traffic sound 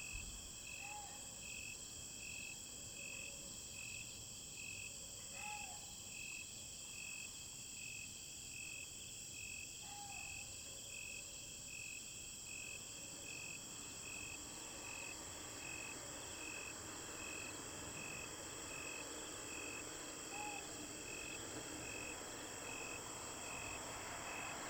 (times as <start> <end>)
13.6 24.6